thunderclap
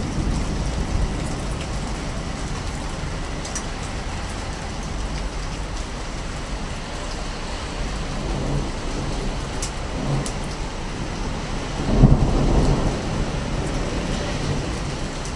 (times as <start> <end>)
0.0 3.7, 8.0 15.3